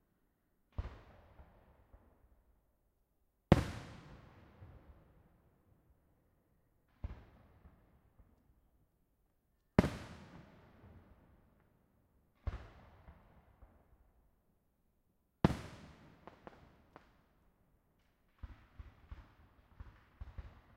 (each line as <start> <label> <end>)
0.7 Fireworks 2.4
3.5 Fireworks 5.4
6.9 Fireworks 8.4
9.8 Fireworks 11.4
12.4 Fireworks 14.0
15.4 Fireworks 17.4
18.0 Fireworks 20.7